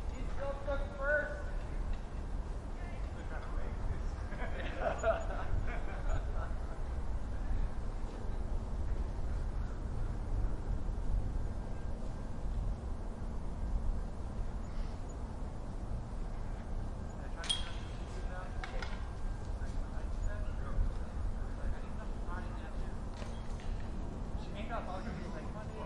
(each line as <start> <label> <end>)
0.1 conversation 7.8
16.3 conversation 25.8